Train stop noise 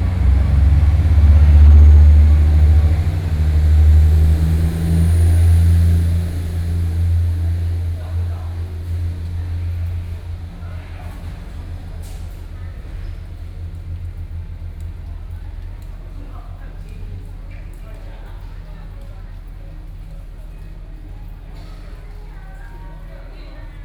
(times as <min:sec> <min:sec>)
0:00.0 0:15.7